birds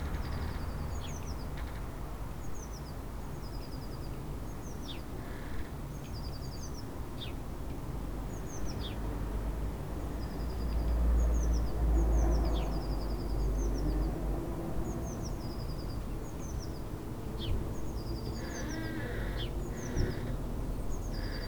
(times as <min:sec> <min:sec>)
0:10.2 0:21.4